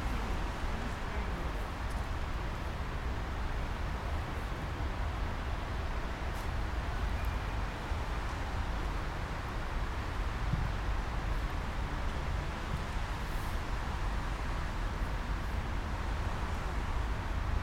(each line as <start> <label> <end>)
0.0 rumeur de la ville 17.6